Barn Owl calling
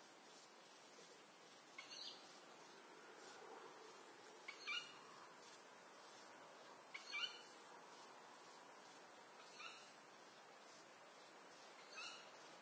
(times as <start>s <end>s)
4.5s 5.0s, 7.0s 7.4s